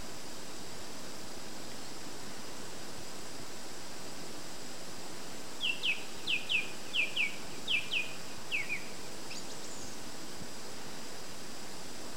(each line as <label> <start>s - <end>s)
Birds twittering in the hedges 4.4s - 10.9s